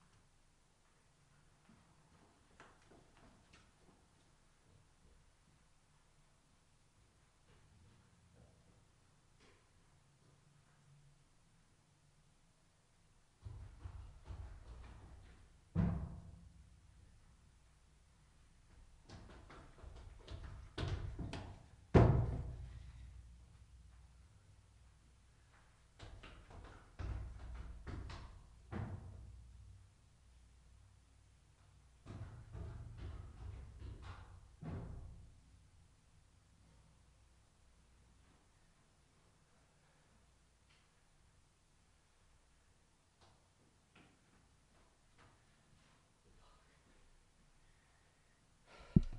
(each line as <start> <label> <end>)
13.4 Running down stair case 15.8
18.6 Running down stair case 23.0
25.3 Running down stair case 29.3
31.6 Running down stair case 35.4